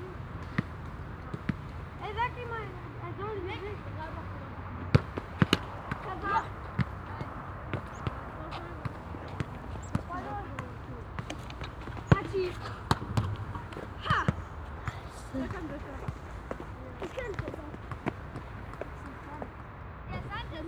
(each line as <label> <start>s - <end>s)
children playing soccer 0.0s - 20.6s
motor traffic 0.0s - 20.6s